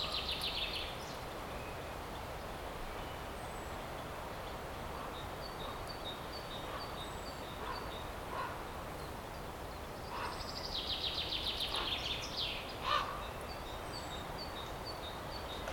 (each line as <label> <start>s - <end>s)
Wind is blowing 0.0s - 15.7s
birds are singing and screaming 0.0s - 15.7s
train 13.5s - 15.7s